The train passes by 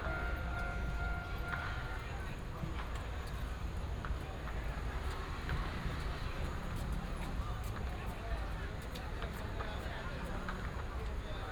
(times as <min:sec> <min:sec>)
0:00.0 0:02.3